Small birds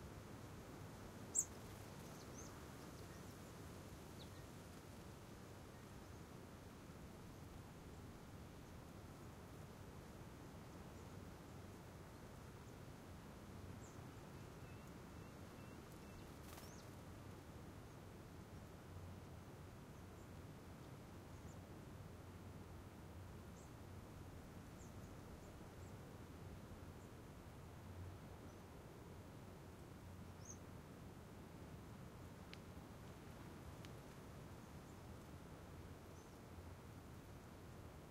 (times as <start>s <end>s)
1.2s 5.0s, 13.6s 18.8s, 24.6s 26.0s, 30.2s 30.7s, 36.0s 36.7s